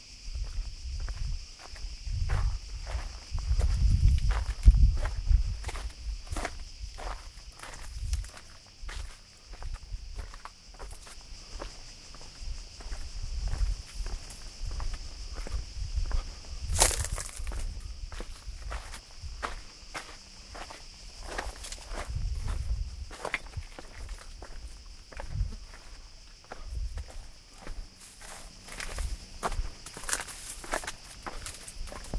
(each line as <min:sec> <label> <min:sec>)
0:00.0 fly 0:32.1
0:00.0 man is walking in a small path 0:32.1
0:00.0 wind 0:32.1